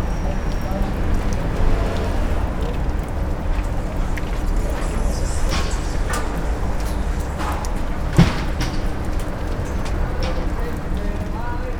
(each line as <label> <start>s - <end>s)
water dripping on the sidewalk and a plastic tarp 0.0s - 11.7s
workers talking among each other and with the foreman 0.0s - 11.7s
moving tools and objects 3.6s - 10.8s